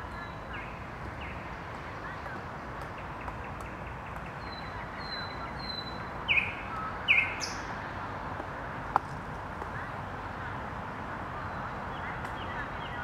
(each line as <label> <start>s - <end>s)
night bird sounds 0.0s - 7.9s
night bird sounds 11.3s - 13.0s